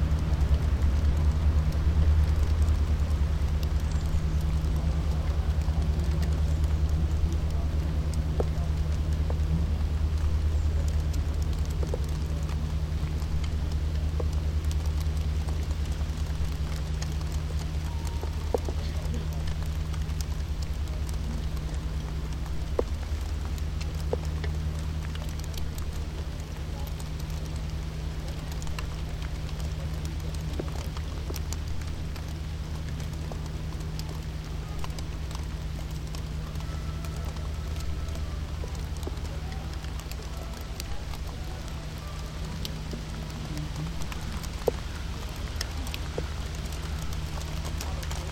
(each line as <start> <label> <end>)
0.0 rain drops falling down on the waste beside a wastebasket 48.3